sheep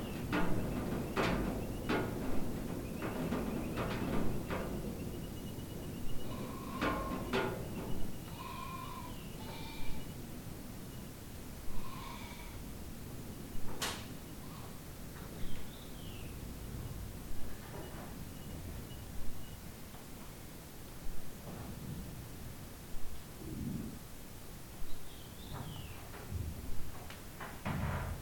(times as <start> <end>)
6.2 10.1, 11.7 12.6